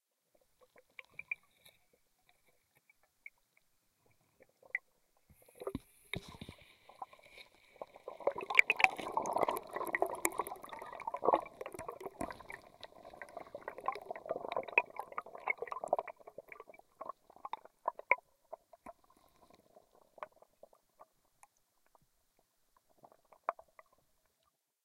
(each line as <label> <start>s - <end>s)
bubbling 5.5s - 20.7s